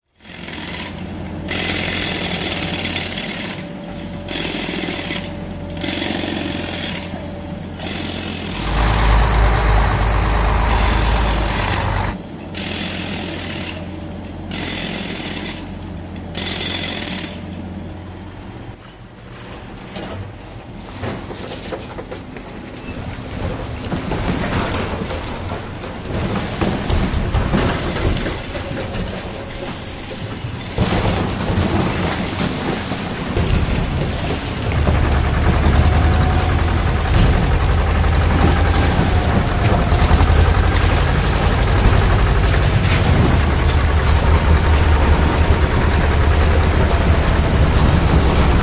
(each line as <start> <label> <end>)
0.0 Trucks 48.6
0.0 crane 48.6
0.1 jackhammer 3.7
4.3 jackhammer 7.2
7.8 jackhammer 9.4
10.6 jackhammer 13.9
14.5 jackhammer 17.5
23.0 debris 48.6
34.2 jackhammer 48.6